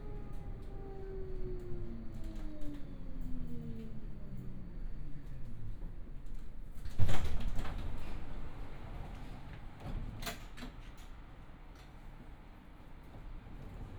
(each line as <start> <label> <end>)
0.0 tram ride 13.9